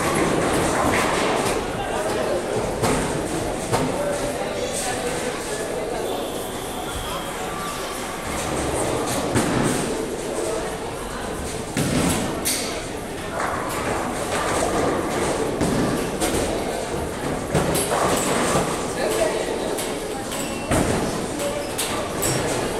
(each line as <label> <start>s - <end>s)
people 0.0s - 22.7s
air hockey 0.0s - 4.0s
air hockey 11.6s - 22.7s